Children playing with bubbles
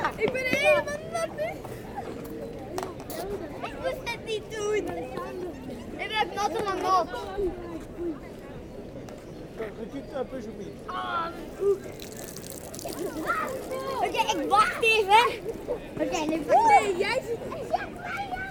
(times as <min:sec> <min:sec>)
0:11.0 0:18.5